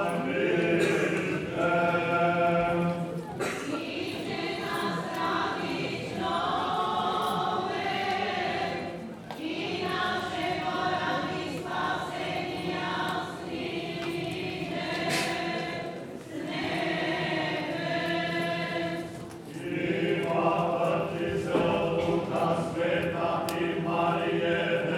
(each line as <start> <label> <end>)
0.0 very old Slavic song sung by the local choir 24.9